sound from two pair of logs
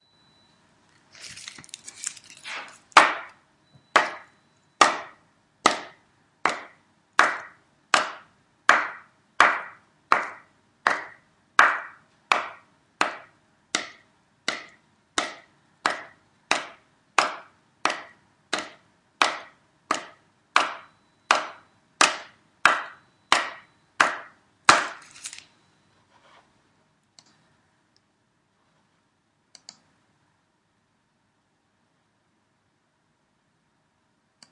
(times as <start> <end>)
2.4 25.5